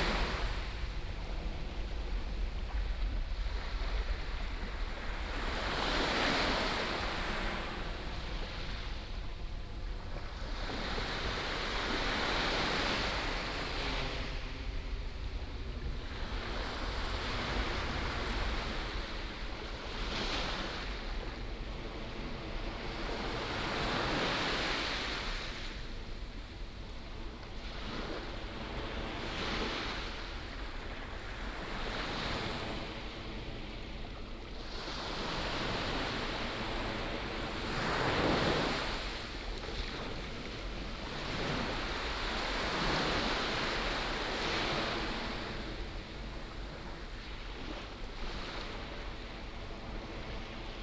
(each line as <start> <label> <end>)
0.0 waves 50.8